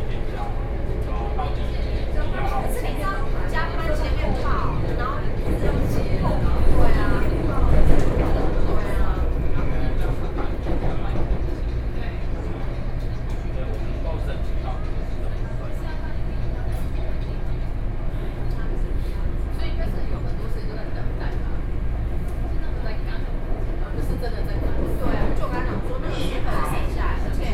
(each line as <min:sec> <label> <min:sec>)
0:00.0 in the MRT train 0:27.5